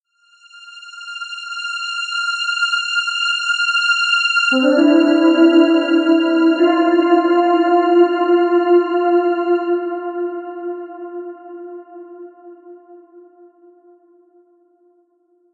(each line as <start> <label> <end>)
0.1 music 15.2